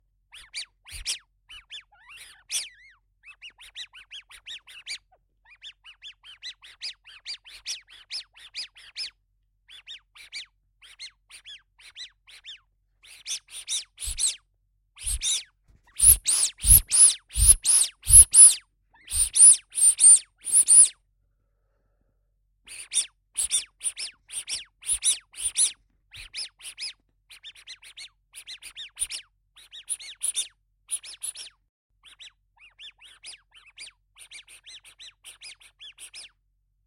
rubber ducky squeeze 13.2 - 14.4
rubber ducky squeeze 15.0 - 20.9
rubber ducky squeeze 22.7 - 27.7

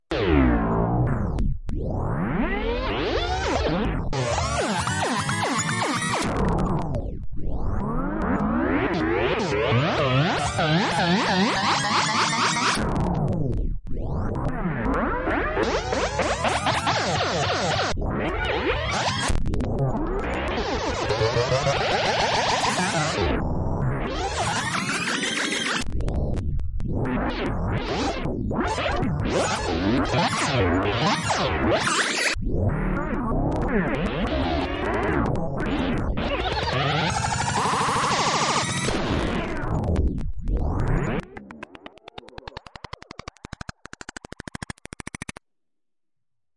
Abstract Glitch Effects 1.2 - 45.4

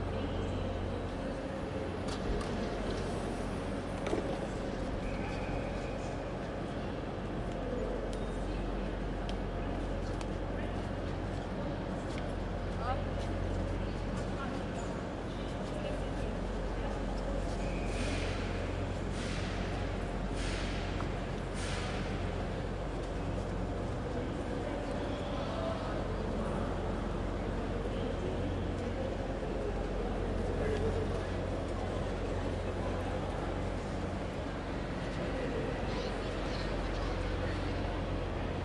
crowd 0.0 - 38.6

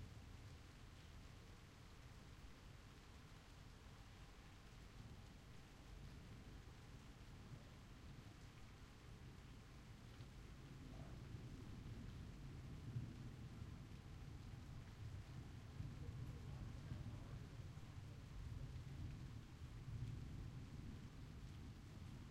rain 0.0 - 22.3

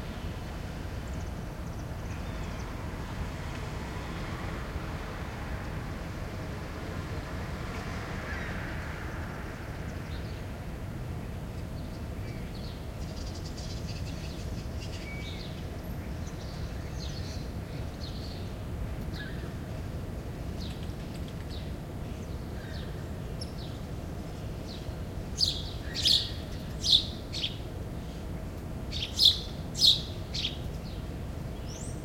light traffic 0.0 - 32.0
small winter birds 0.0 - 32.0

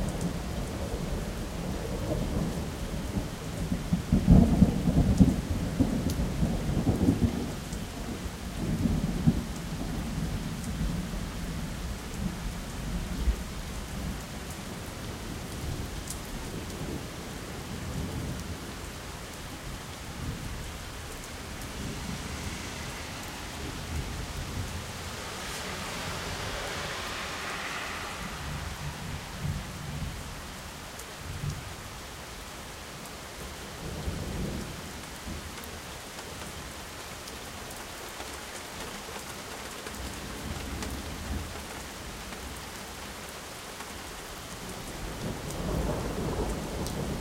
rain 0.0 - 47.2
thunder 0.1 - 14.2
thunder 20.2 - 31.6
thunder 45.0 - 47.2

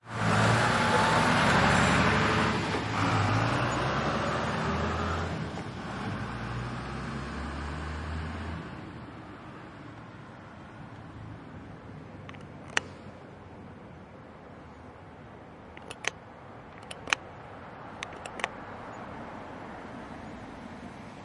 traffic 0.0 - 21.2
Truck Passes 0.0 - 10.4

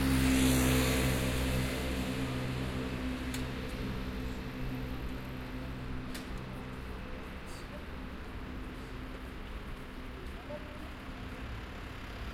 many Cars and MotorRolers passing by 0.0 - 12.3

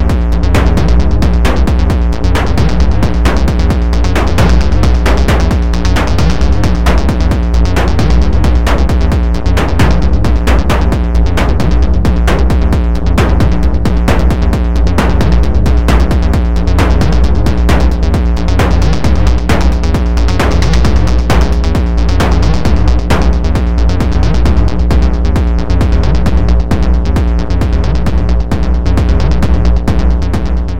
bass 0.0 - 30.7
drum 0.0 - 30.7

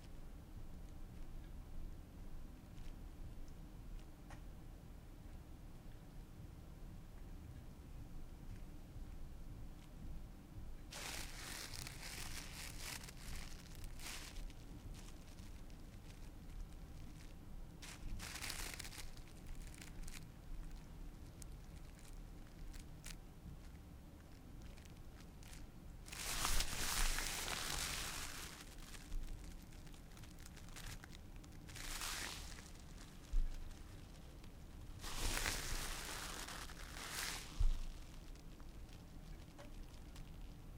Rope Sound 26.1 - 29.1

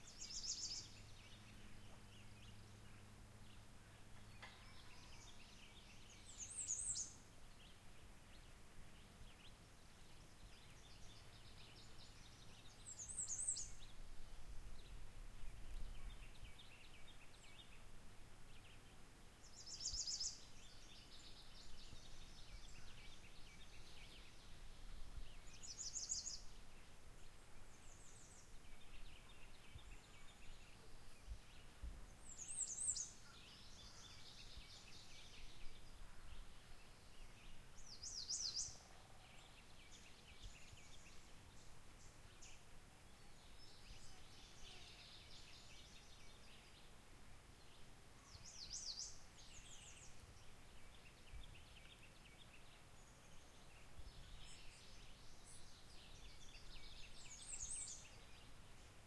birds 0.0 - 59.0

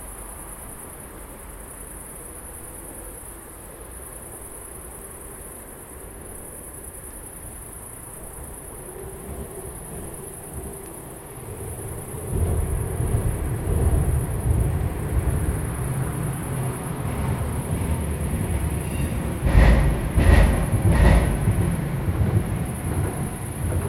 tramways 0.0 - 23.8
passing by cars 11.2 - 23.8
trucks 11.6 - 23.8

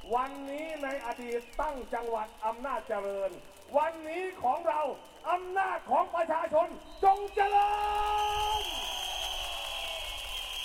Political speech of the opposition party 0.0 - 8.7

